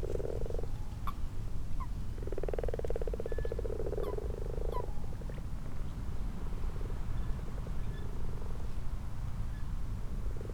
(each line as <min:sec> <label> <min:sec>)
0:00.0 common toads 0:01.2
0:00.0 common frogs 0:05.4
0:02.2 common toads 0:05.3